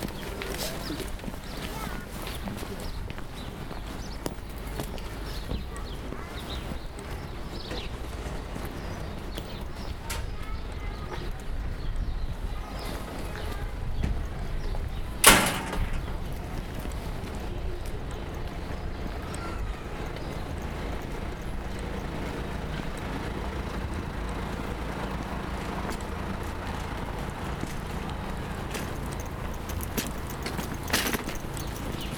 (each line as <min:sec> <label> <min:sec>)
0:15.2 boule gate 0:16.4